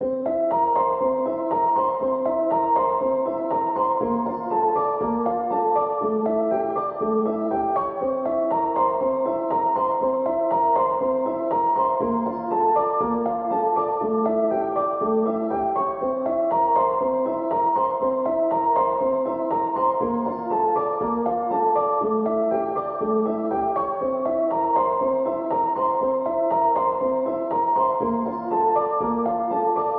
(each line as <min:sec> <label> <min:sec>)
0:00.0 piano 0:29.9